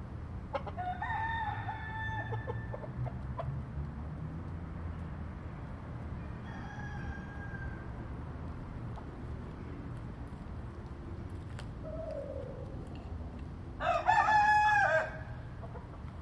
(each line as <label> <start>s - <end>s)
Cockerels 8.9s - 13.6s